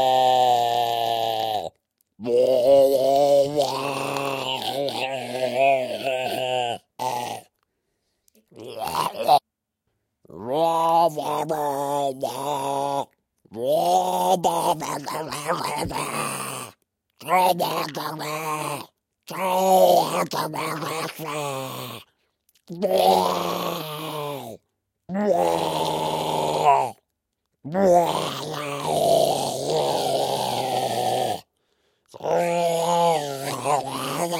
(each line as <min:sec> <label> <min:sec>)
0:00.0 zombie-like grunts 0:07.6
0:08.6 zombie-like grunts 0:09.4
0:10.3 zombie-like grunts 0:22.1
0:22.7 zombie-like grunts 0:27.0
0:27.7 zombie-like grunts 0:31.5
0:32.1 zombie-like grunts 0:34.3
0:32.2 weird talkings 0:34.3